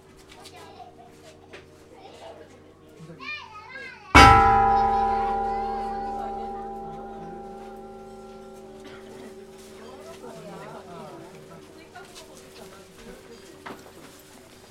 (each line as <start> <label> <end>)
4.2 chimes 10.3
4.2 Gongs 11.6